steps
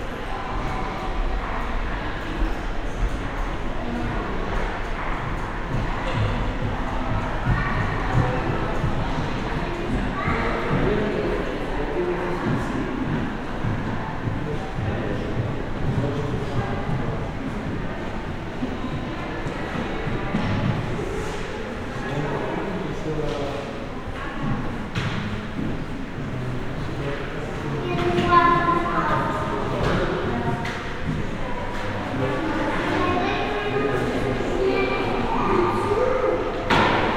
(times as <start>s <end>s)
5.0s 21.8s